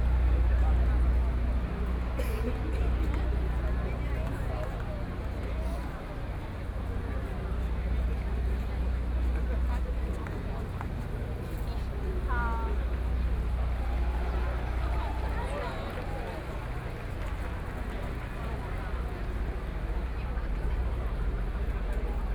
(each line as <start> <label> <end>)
12.4 People cheering 19.0